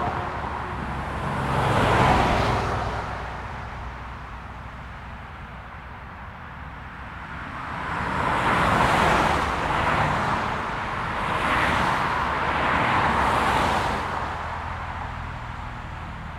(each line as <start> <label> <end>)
0.0 continuous flow of traffic 16.3